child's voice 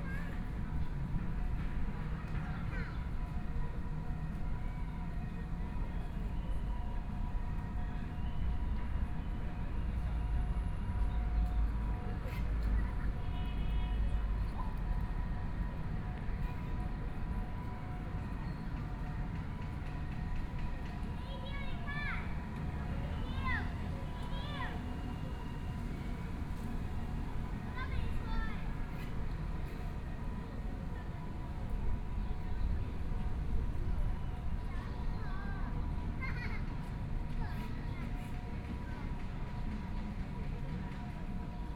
21.2s 22.3s, 23.2s 24.8s, 27.8s 28.7s, 34.7s 36.8s

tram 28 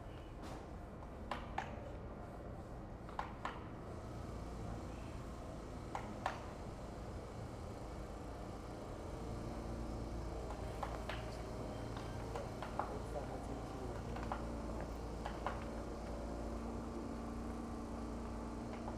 4.0s 18.9s

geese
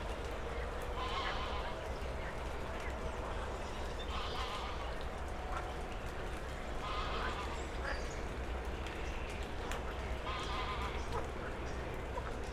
1.0s 1.8s, 4.0s 5.0s, 6.8s 7.6s, 9.8s 12.4s

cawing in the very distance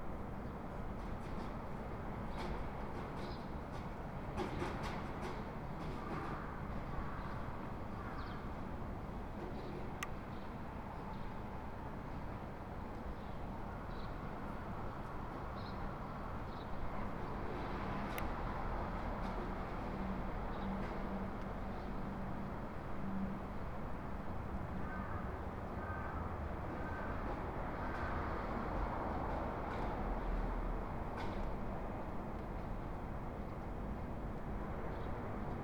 24.7s 27.3s

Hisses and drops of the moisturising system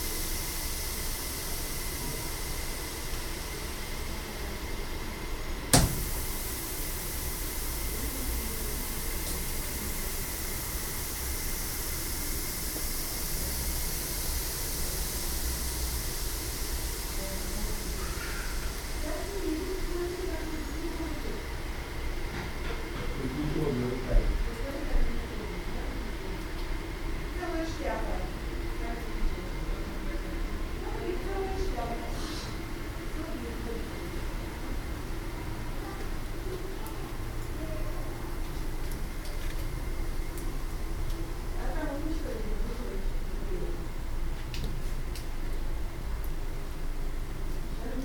5.7s 20.8s

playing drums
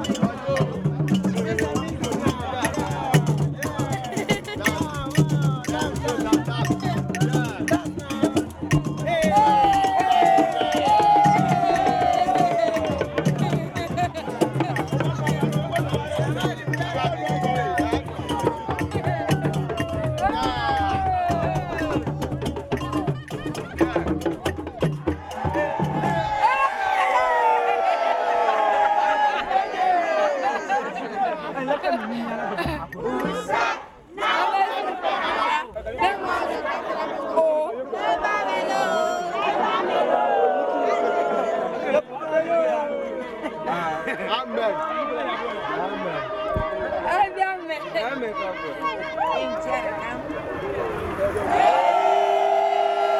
0.0s 26.6s

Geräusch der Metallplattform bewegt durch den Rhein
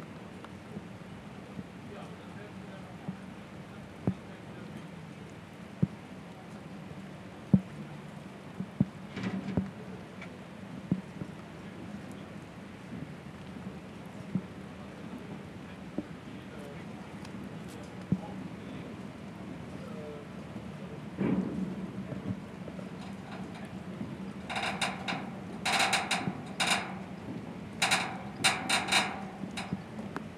22.9s 30.3s

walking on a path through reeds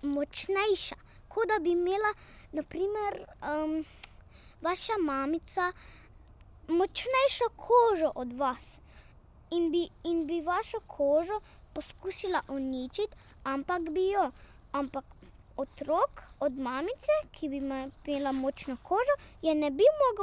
9.8s 20.2s

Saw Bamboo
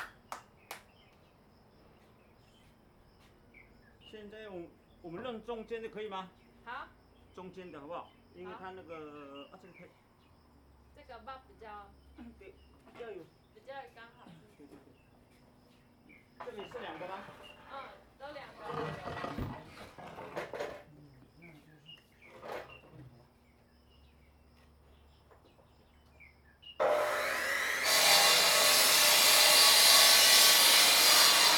26.8s 31.5s

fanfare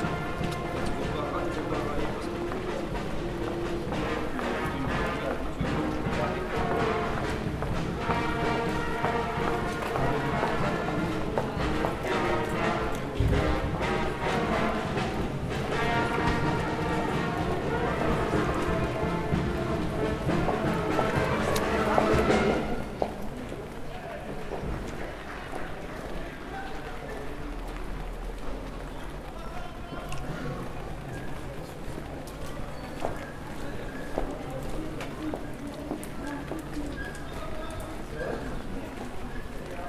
0.0s 2.4s, 3.7s 22.9s

